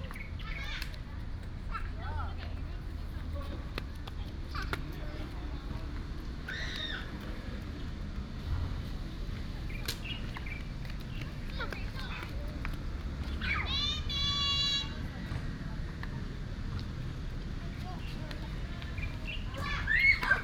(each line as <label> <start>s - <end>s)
traffic sound 0.0s - 20.4s
Birds 9.6s - 12.2s
Birds 18.0s - 20.4s
Children play with their father 19.6s - 20.4s